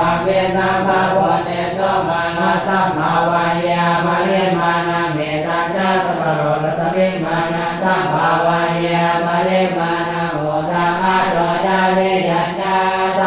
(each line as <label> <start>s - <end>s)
chant 0.0s - 13.2s